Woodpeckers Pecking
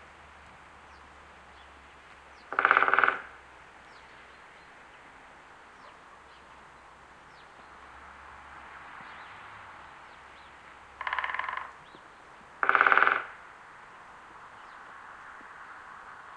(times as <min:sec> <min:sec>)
0:02.1 0:03.4, 0:11.0 0:13.4